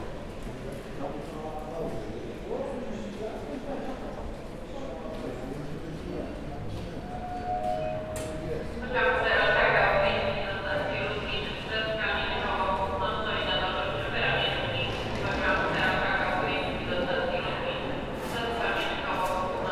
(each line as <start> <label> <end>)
6.0 travelers buying tickets 19.7